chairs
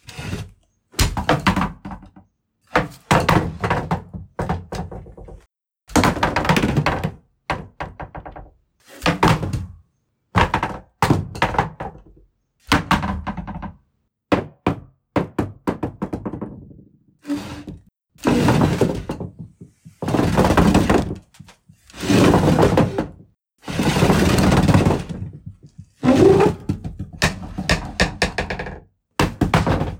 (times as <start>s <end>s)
17.2s 28.6s